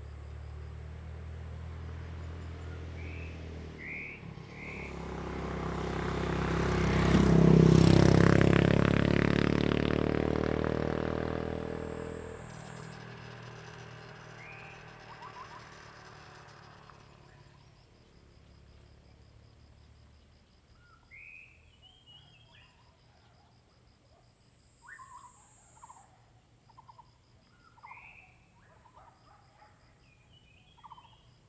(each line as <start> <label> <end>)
2.7 Bird calls 5.0
12.2 Bird calls 17.8
24.8 Bird calls 31.3